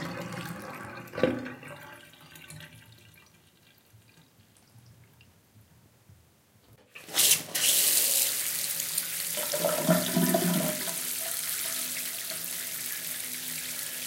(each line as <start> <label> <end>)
0.0 bath drain 5.4
0.0 filled the bathtub 5.5
6.8 filled the bathtub 14.0
6.9 bath drain 14.0
7.0 draind during a shower 14.0